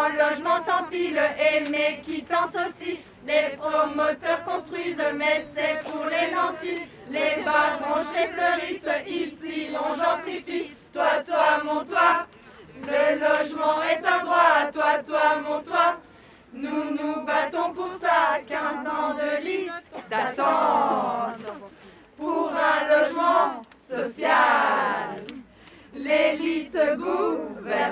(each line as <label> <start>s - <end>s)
text sung by women 0.0s - 27.9s